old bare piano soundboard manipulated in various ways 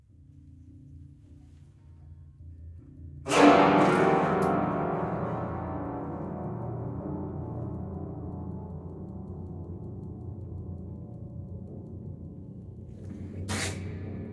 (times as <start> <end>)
3.3 8.0